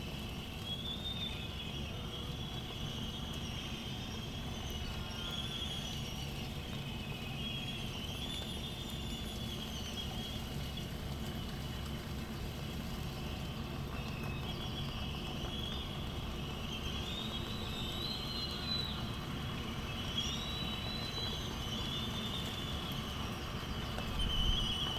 white terns 0.1 - 24.9

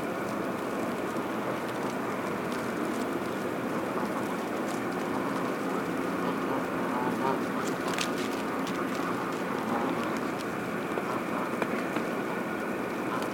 Constant HVAC drone 0.0 - 13.3
Geese walking on ice whilst pecking the ground 0.0 - 13.3
wing flapping 0.0 - 13.3
occasional goose honks 1.1 - 13.3

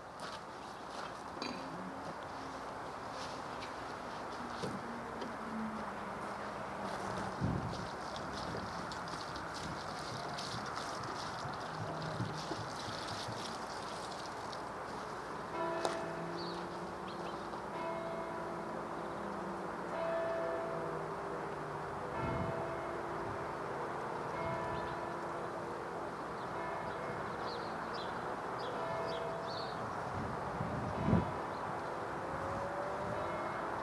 footsteps 0.2 - 16.9
Distant bells 14.9 - 30.0
Distant bells 32.7 - 33.8

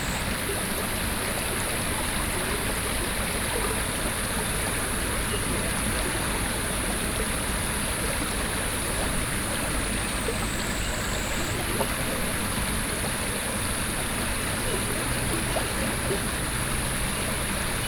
water streams 0.0 - 17.8

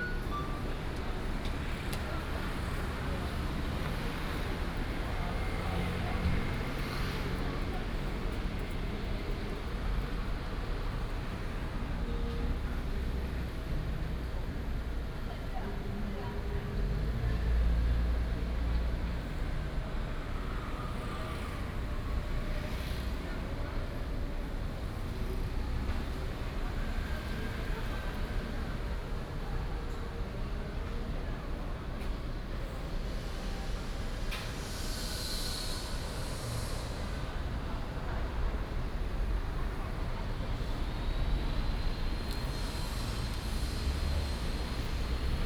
Traffic Sound 16.6 - 45.4

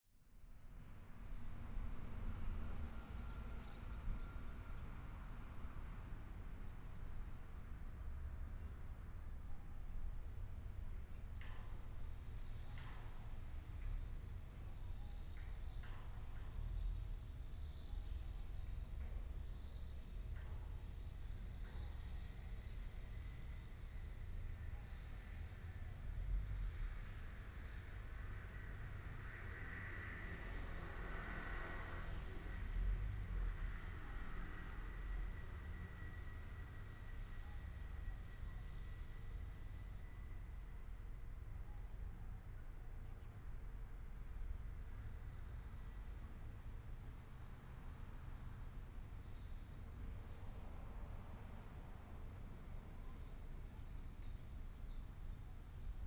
Traffic Sound 26.2 - 41.1

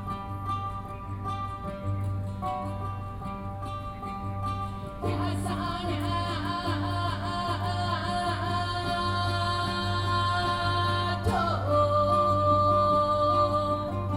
Hakka singer 0.0 - 14.1

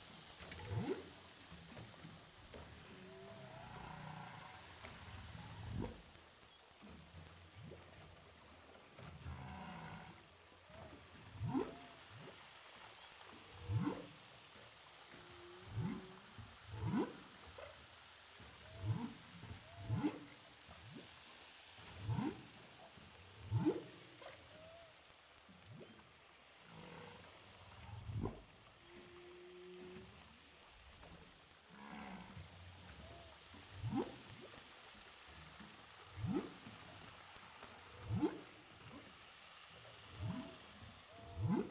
Whales sound 0.4 - 6.1
Whales sound 9.0 - 12.4
Whales sound 13.2 - 17.7
Whales sound 21.8 - 22.5
Whales sound 26.6 - 39.2
Whales sound 40.1 - 41.7

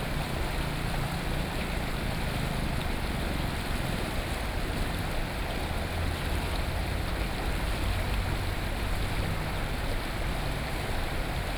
water 0.0 - 11.5

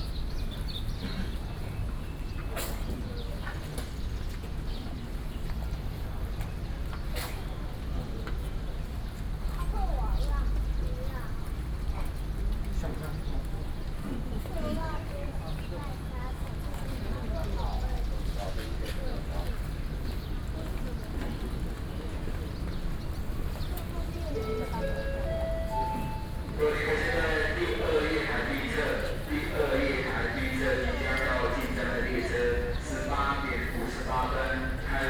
Train arrival 21.7 - 35.0

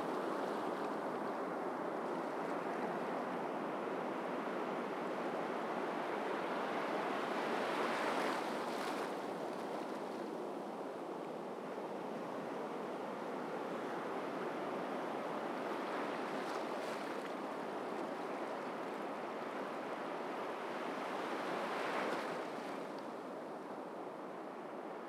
sea waves 5.8 - 10.5
sea waves 11.6 - 23.8

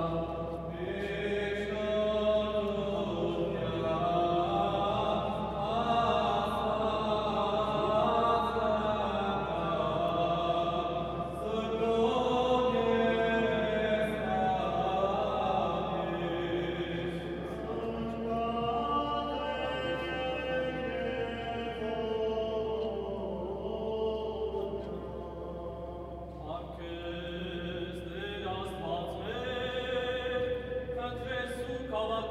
chanting 0.0 - 32.3

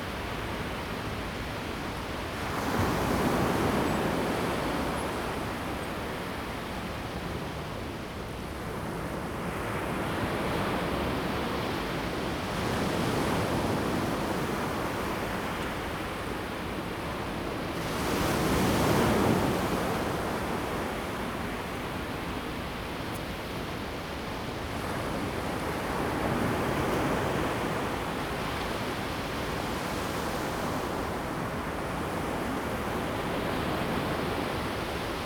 waves 9.3 - 35.2

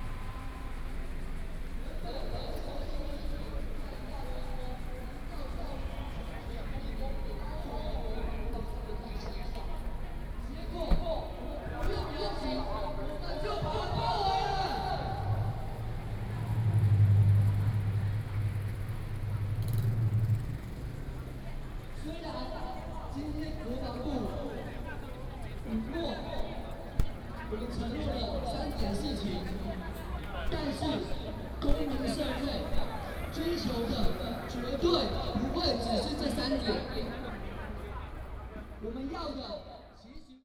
Protest party 22.0 - 38.2

